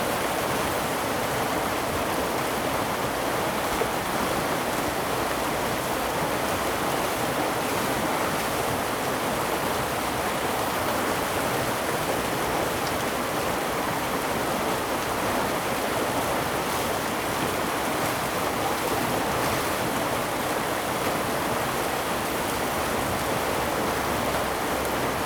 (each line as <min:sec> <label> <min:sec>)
0:00.0 Waterwheel 0:25.2